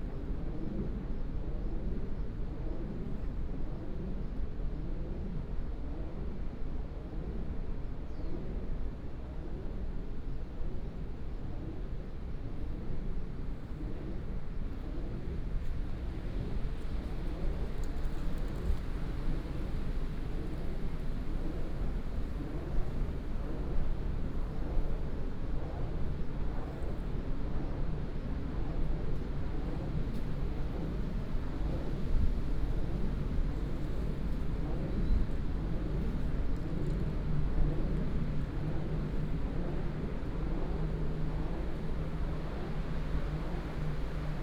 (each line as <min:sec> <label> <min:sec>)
0:00.0 wind 0:44.4
0:11.0 Wind Turbines 0:44.4